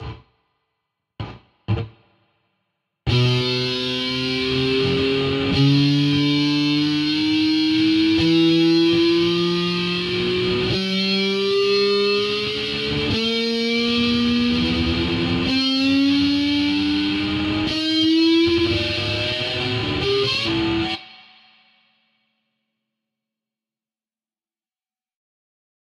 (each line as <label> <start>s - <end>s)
slide metallico para guitarra electrica 3.1s - 21.8s